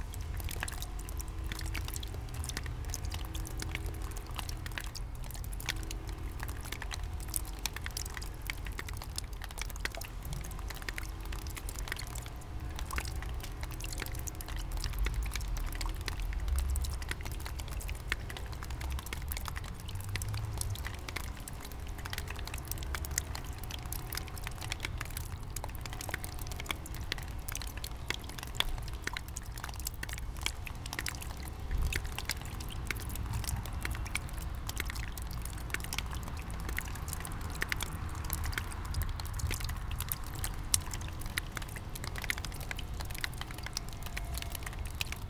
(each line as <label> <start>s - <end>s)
melting snow drips 0.0s - 45.2s